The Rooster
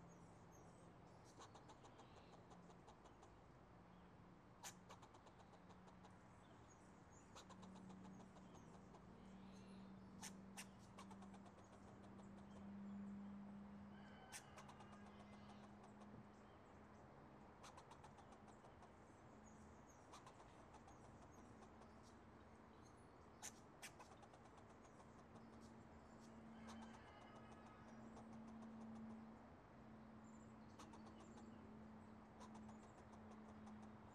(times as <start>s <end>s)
13.8s 16.2s, 26.2s 29.1s